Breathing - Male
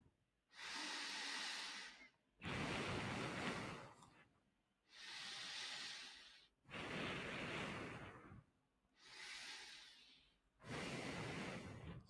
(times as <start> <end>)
4.9 6.5, 9.0 12.0